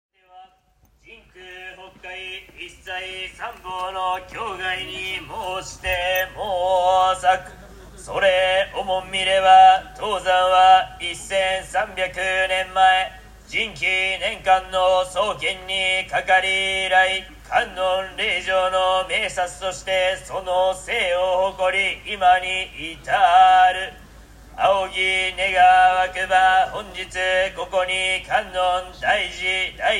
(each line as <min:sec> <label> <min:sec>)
0:00.2 call to attend a service in the temple 0:29.9